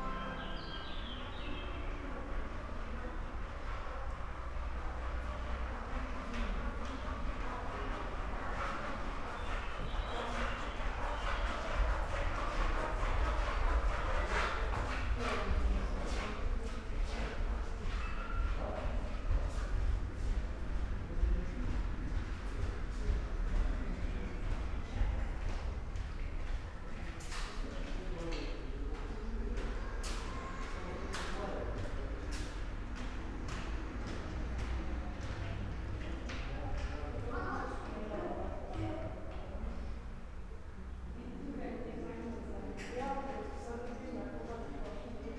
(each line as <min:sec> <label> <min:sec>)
0:00.1 birds from outside 0:01.9
0:06.1 steps 0:31.1